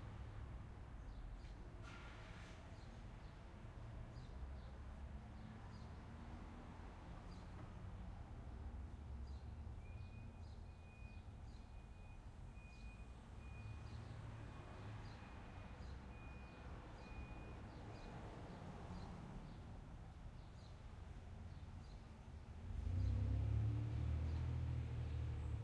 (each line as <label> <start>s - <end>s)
light traffic 0.0s - 25.6s
birds in the background 8.8s - 11.9s
birds in the background 20.4s - 25.6s